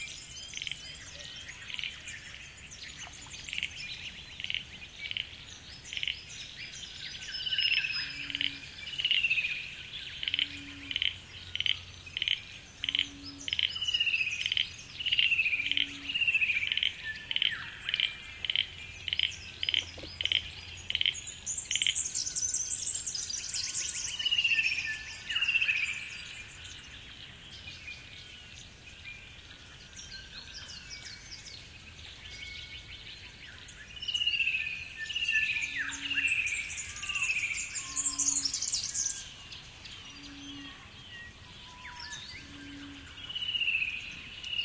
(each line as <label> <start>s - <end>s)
frogs 0.0s - 28.9s
insects 0.0s - 44.6s
frogs 33.2s - 44.6s